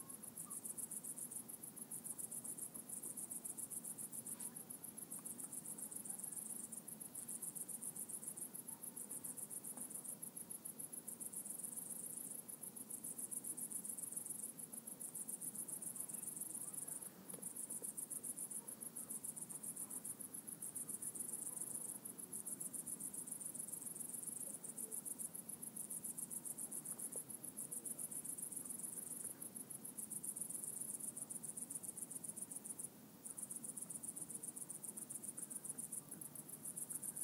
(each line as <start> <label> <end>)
0.0 Crickets 37.2